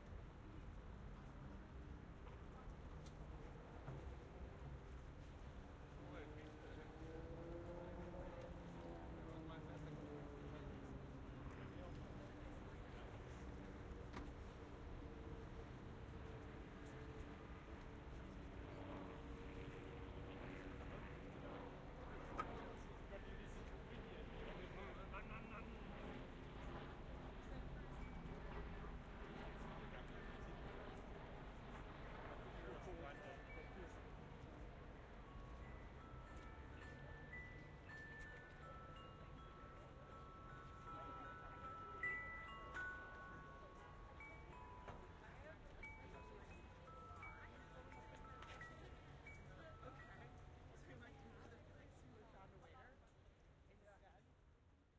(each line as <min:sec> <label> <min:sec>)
0:01.4 distant helicopter 0:36.0
0:32.2 wind chimes 0:51.6
0:32.5 people talking 0:34.6
0:35.3 people talking 0:53.1